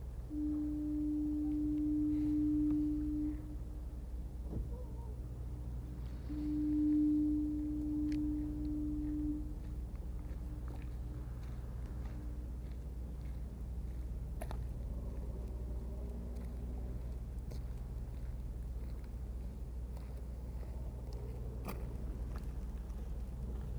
distant shipping horn sounds 0:00.0 - 0:12.6
Departing ferry 0:00.0 - 0:23.7

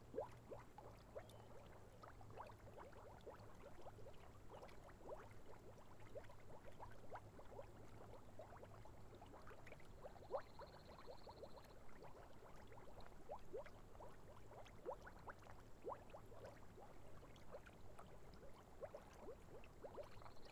little puddle with boiling mud 0:00.0 - 0:20.5

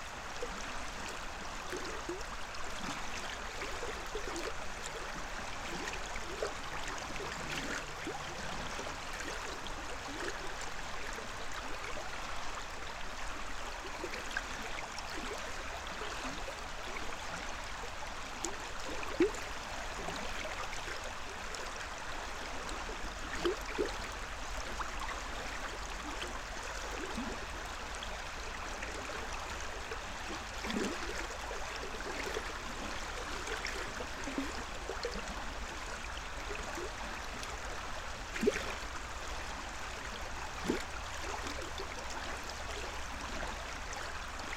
river 0:00.0 - 0:44.5

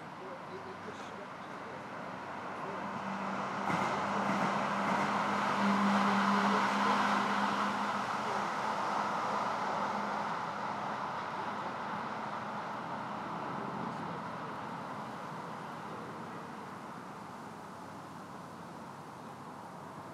boats 0:00.0 - 0:20.1
pedestrians 0:00.0 - 0:20.1

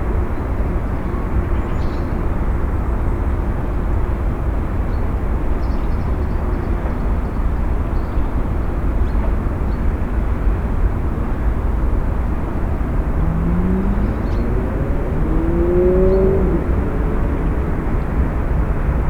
car traffic 0:00.0 - 0:19.0
winter birds 0:12.6 - 0:16.7

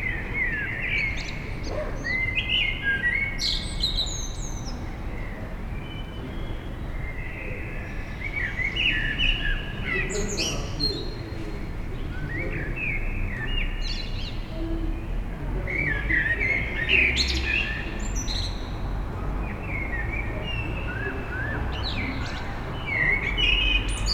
Birds 0:00.0 - 0:24.1

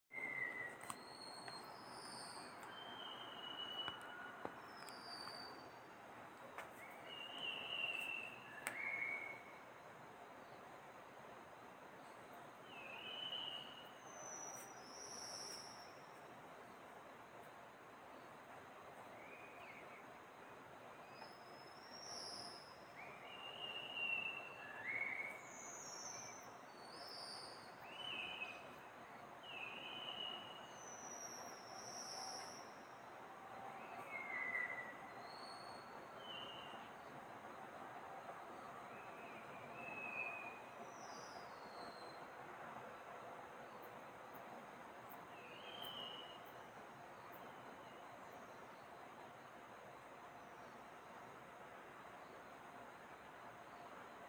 Taiwan Whistling Thrush 0:00.1 - 0:11.0
Taiwan Whistling Thrush 0:12.0 - 0:16.7
Taiwan Whistling Thrush 0:18.1 - 0:50.8

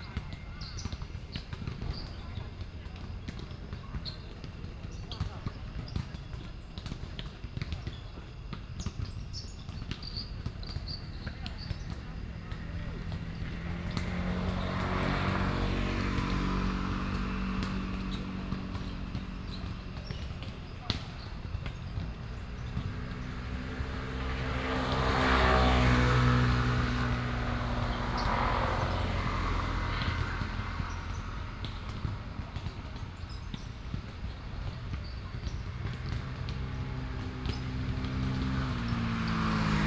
Traffic Sound 0:08.3 - 0:39.8

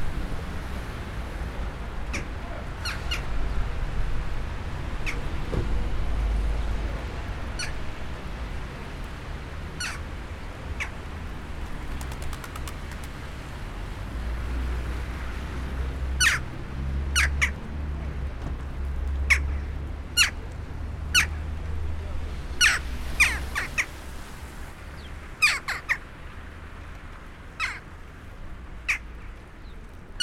road traffic 0:00.0 - 0:30.2
Squeaky birds 0:25.0 - 0:26.0

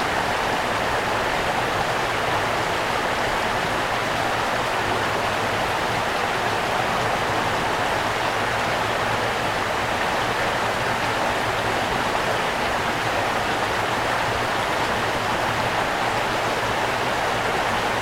small brook reverberating in the valley 0:00.0 - 0:18.0

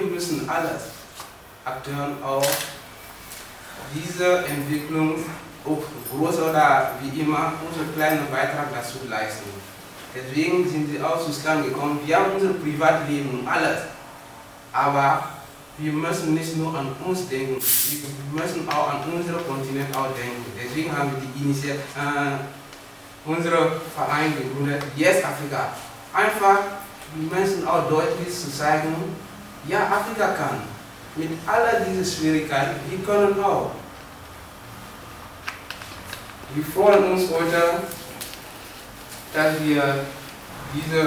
welcome speech 0:39.3 - 0:41.0

